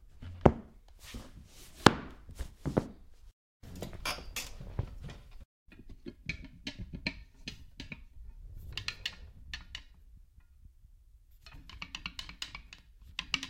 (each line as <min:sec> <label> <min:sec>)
0:00.0 Furniture being handled 0:03.2